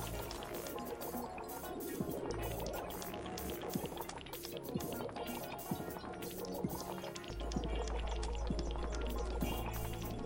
water 0.0 - 10.2

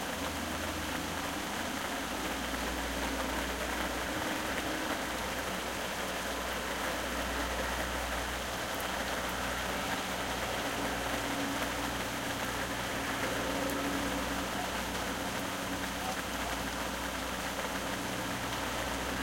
rain 0.0 - 19.2

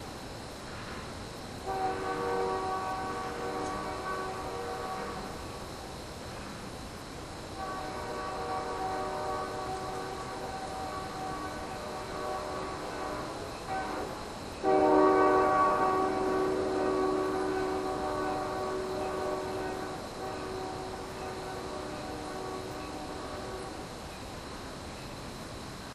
train passing in the distance 0.0 - 25.9
horn 1.7 - 5.6
horn 7.5 - 23.8

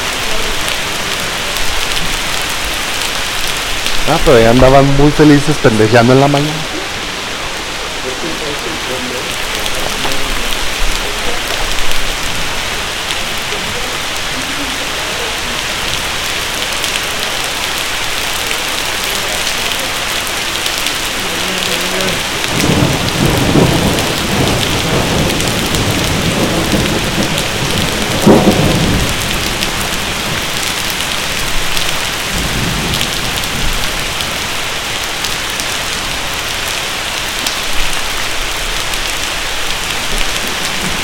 rain 0.0 - 41.0
voces 8.0 - 11.6
voces 12.2 - 29.9

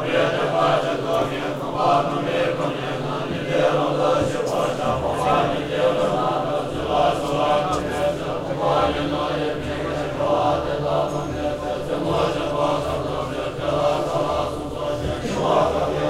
chanting 0.0 - 16.0

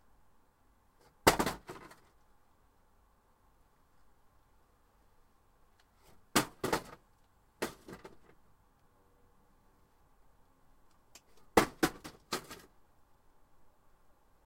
wooden crate falling and hitting asphalt 1.2 - 2.1
wooden crate falling and hitting asphalt 6.3 - 7.0
wooden crate falling and hitting asphalt 7.6 - 8.4
wooden crate falling and hitting asphalt 11.5 - 12.7

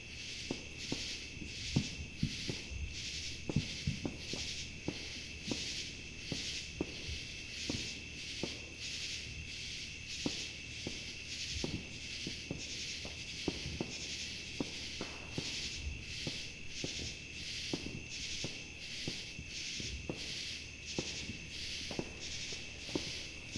Cicadas 0.0 - 23.5
Distant fireworks 0.0 - 23.5
Katydids 0.1 - 23.5

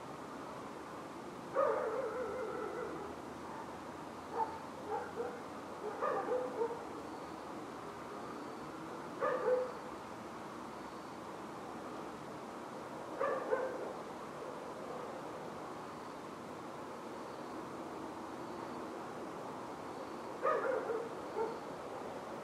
crickets 0.0 - 22.4
dogs 1.6 - 6.8
dogs 9.2 - 9.8
dogs 13.2 - 14.0
dogs 20.4 - 21.6

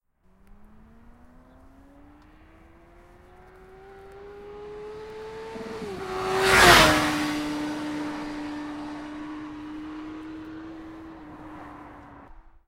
Sportsbike passing at speed 0.3 - 12.6

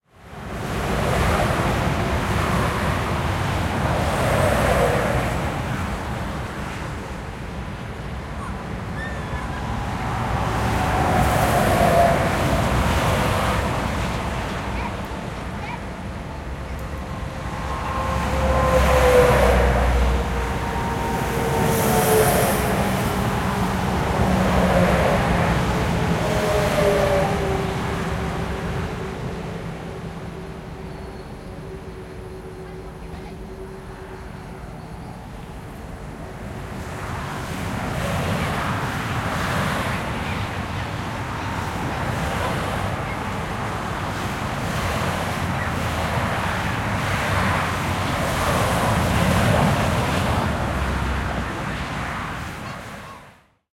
cars and trucks passing 0.2 - 53.5

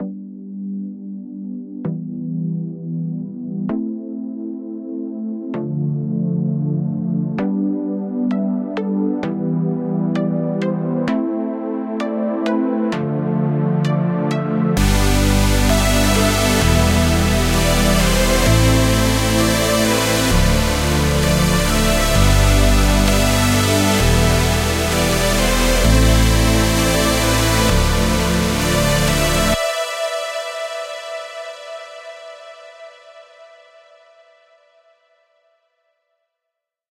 Intro for a song 14.3 - 33.8

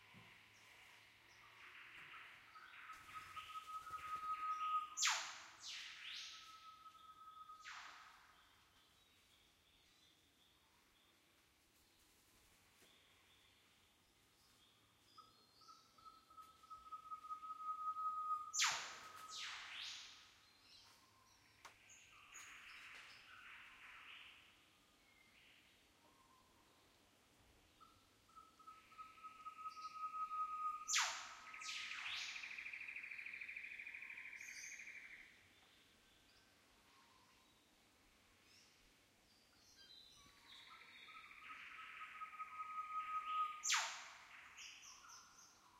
Northern whipbird 1.4 - 8.6
Northern whipbird 15.2 - 21.2
Northern whipbird 28.3 - 35.2
Northern whipbird 40.2 - 45.7

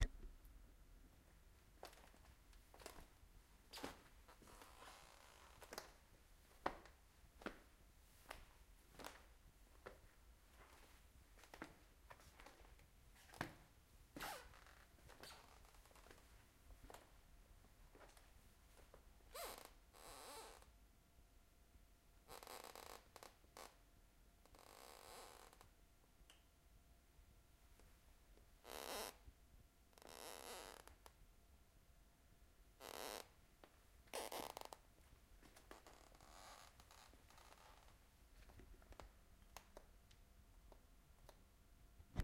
walking slowly on wooden floor 3.8 - 13.7

